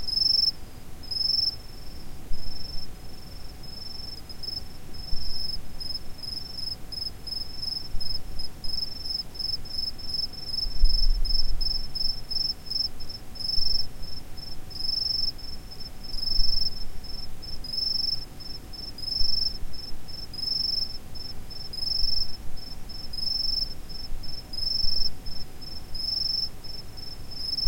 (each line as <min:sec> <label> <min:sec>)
0:00.1 distant crickets chirping 0:27.6